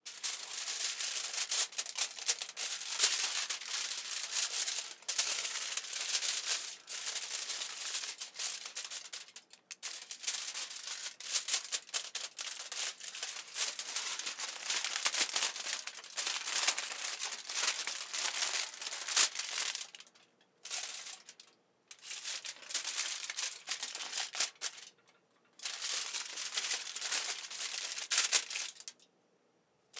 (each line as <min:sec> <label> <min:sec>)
0:11.8 Foil handling 0:21.3